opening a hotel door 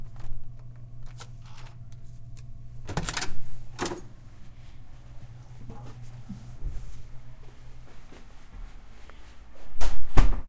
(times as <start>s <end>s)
2.8s 4.1s